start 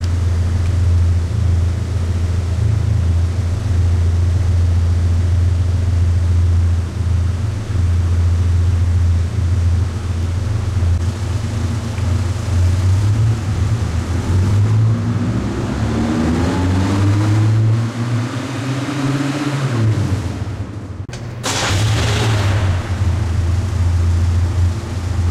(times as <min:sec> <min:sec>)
0:21.1 0:25.3